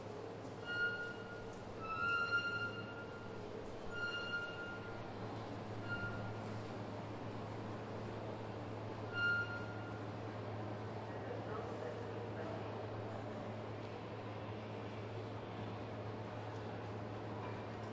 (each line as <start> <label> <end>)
0.0 train 17.9
0.6 mechanical stairs 6.6